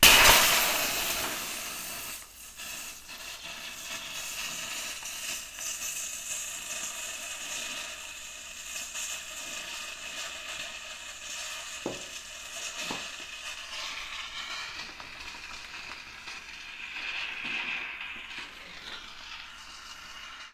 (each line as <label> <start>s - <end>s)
Shaving cream can release 0.0s - 6.2s
Shaving cream can release 11.1s - 20.5s